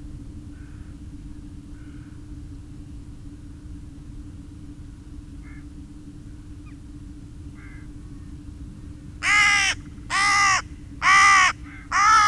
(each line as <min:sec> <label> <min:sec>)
0:00.5 Crows and rooks 0:01.0
0:01.7 Crows and rooks 0:02.2
0:05.4 Crows and rooks 0:05.7
0:07.6 Crows and rooks 0:08.0
0:09.2 Crows and rooks 0:12.2